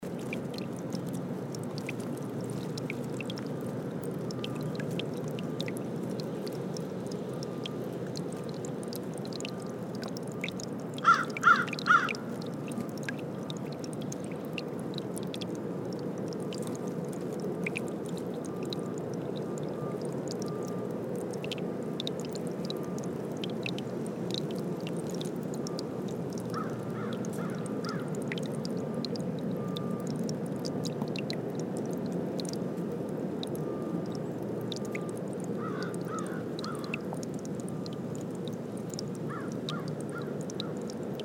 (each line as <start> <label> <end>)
0.0 Creek 41.2
11.0 crows flying around 12.2
26.5 crows flying around 28.1
35.6 crows flying around 37.0
39.3 crows flying around 40.8